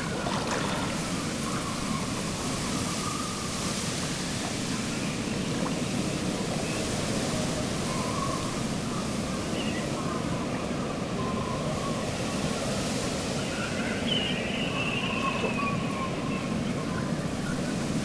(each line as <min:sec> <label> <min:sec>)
0:00.0 wind whistles through the rigging of ships 0:18.0